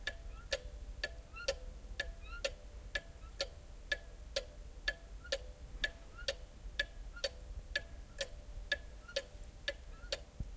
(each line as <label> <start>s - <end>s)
small cuckoo clock from the Black Forest ticking 0.0s - 10.3s